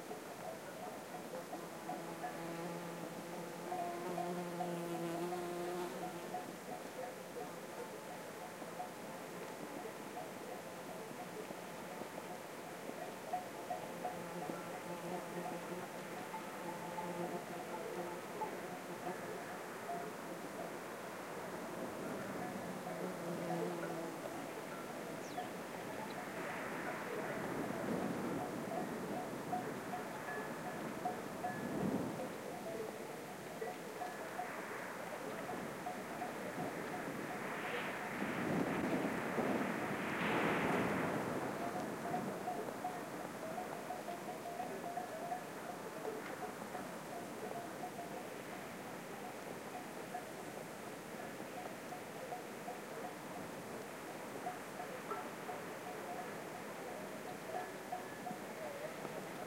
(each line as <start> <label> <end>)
0.0 distant cattle bells 59.4
0.0 wind in grasses 59.4
1.5 insect (bumblebee) buzzing 6.4
13.9 insect (bumblebee) buzzing 19.3